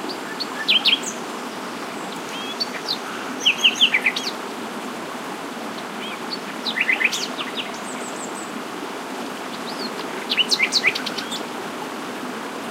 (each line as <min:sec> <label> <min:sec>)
0:00.0 stream babbling 0:12.7
0:00.0 wind 0:12.7
0:02.1 Nightingale singing 0:04.4